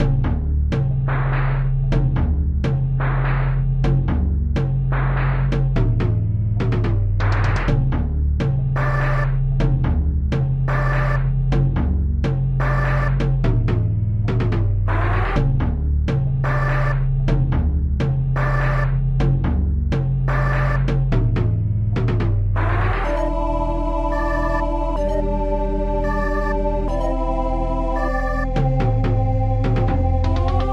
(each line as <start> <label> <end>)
0.0 drum 23.3
0.0 bass 30.7
20.3 synth 20.9
22.6 synth 30.7
28.0 drum 30.7